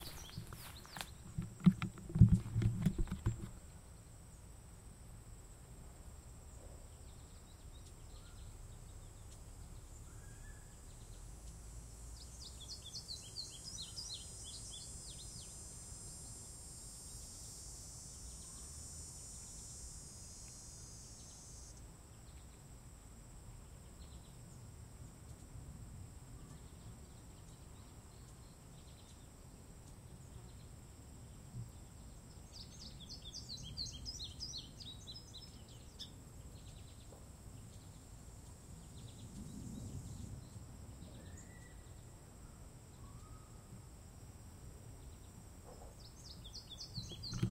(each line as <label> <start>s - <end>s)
Birds 0.0s - 4.5s
Crickets 0.0s - 47.5s
Birds 26.2s - 43.9s
Birds 44.8s - 47.5s